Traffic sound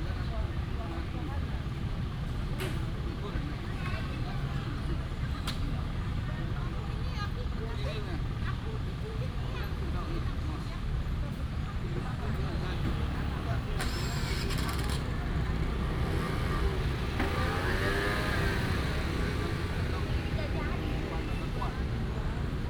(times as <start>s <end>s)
11.1s 22.6s